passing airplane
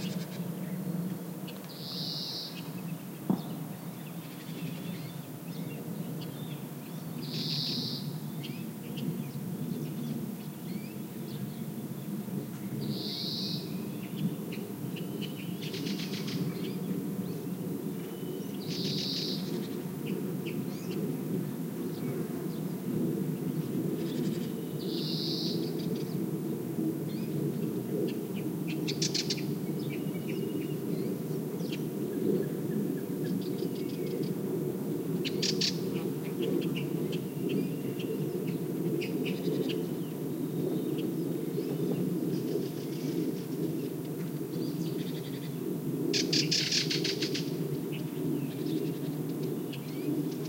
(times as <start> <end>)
13.6 50.4